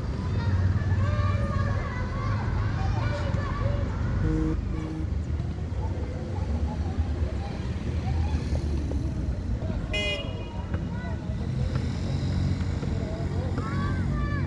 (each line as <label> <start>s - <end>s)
teenagers and children play soccer 0.0s - 14.4s
vehicles drive through the area 0.0s - 14.4s